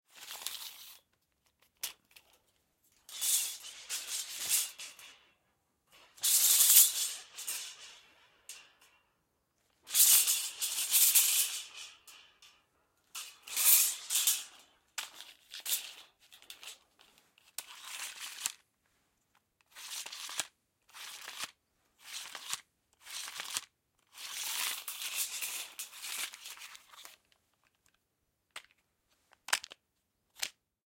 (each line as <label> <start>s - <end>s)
ruler 6.2s - 9.0s
ruler 19.7s - 27.2s